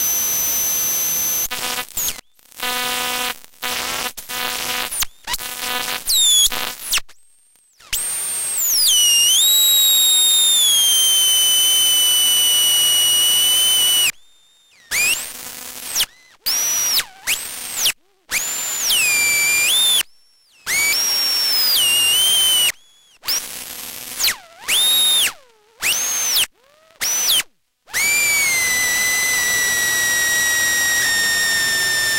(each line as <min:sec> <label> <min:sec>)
0:00.0 static 0:27.4
0:28.0 static 0:32.1